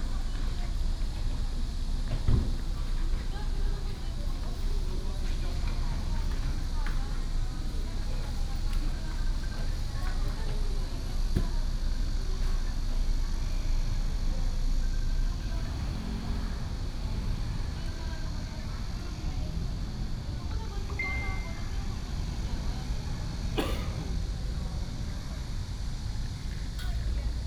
Traffic sound 0.0 - 27.4

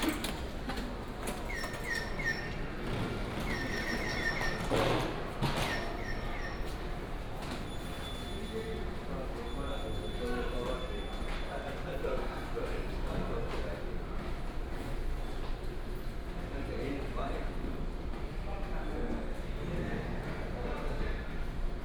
Train arrived 0.0 - 11.9
walking in the Station 0.0 - 21.8

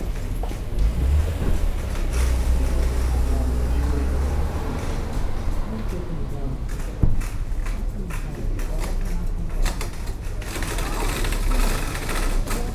distant sounds of the large car park 0.0 - 12.7
people 0.0 - 12.7
sliding doors of the supermarket 0.0 - 12.7

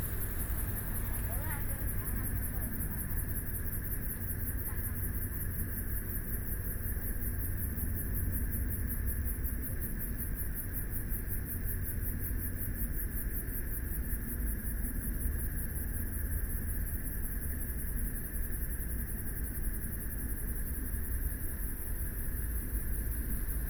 Traffic Sound 0.0 - 4.6
Pedestrians walking and running 0.0 - 5.4
Frogs sound 0.0 - 6.3

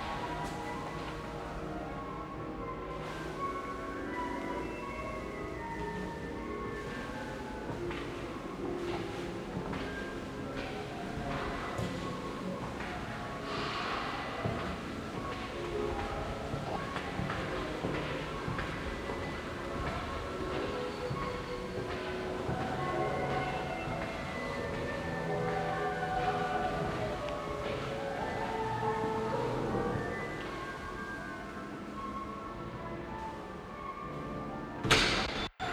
music performed by the students 0.0 - 35.3
steps 0.0 - 35.7

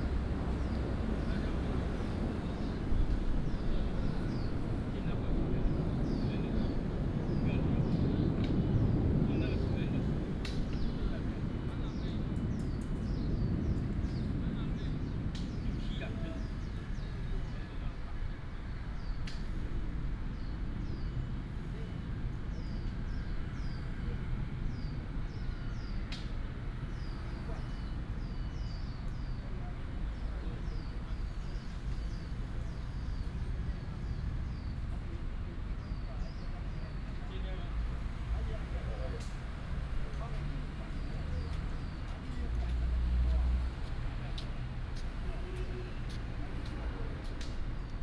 traffic sound 0.0 - 48.0
wind 0.0 - 48.0
birds sound 0.0 - 26.1
birds sound 26.7 - 48.0

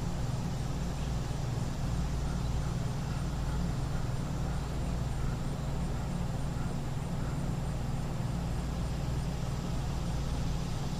6 air conditioners 0.0 - 10.9

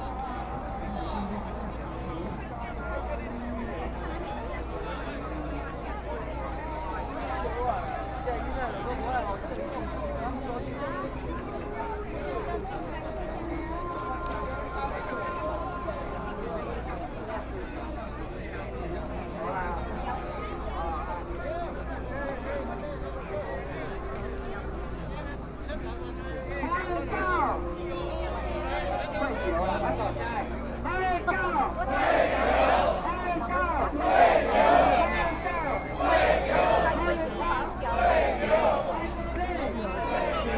Shouting slogans 26.8 - 40.5

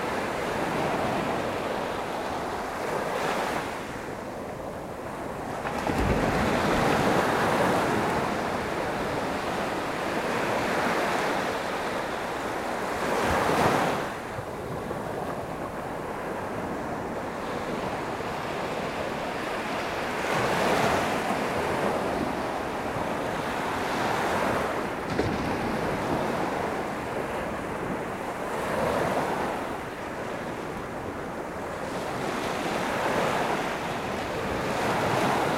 waves 0.0 - 35.5

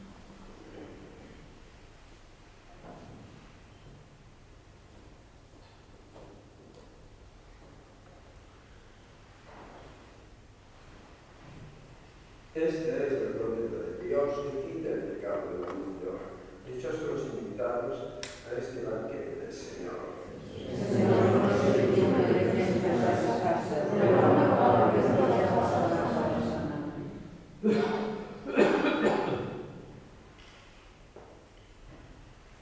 Eucharistic celebration 12.6 - 30.2

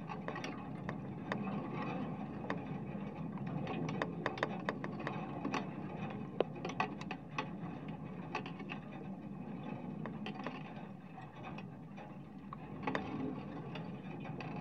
wind 0.0 - 14.6

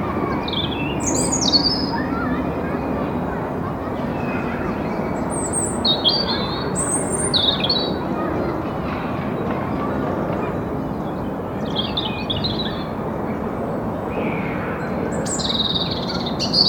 children playing 0.0 - 16.6
trains 0.0 - 16.6
bird song 0.2 - 3.2
bird song 3.9 - 8.3
bird song 10.3 - 16.6

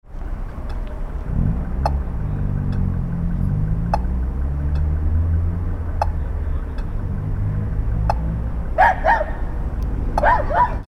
Traffic sounds 0.0 - 10.8
traffic light with acoustic signal 0.1 - 10.8

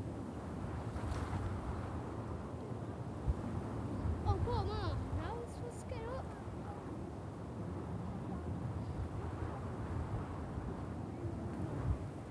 winds 0.0 - 12.3
children playing in the dunes 3.1 - 12.0

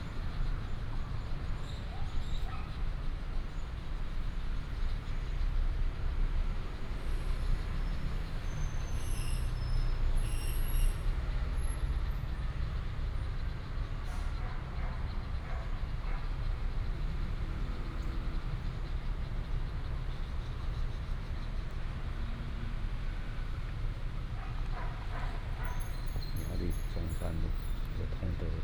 The train runs through 0.0 - 28.6
Traffic sound 0.0 - 28.6
Dog sounds 24.4 - 26.0

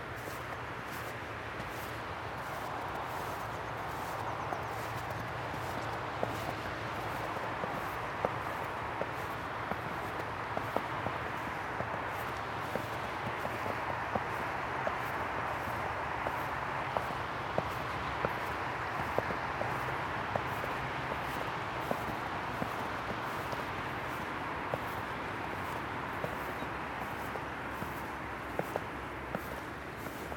Walking through snow 0.0 - 30.3

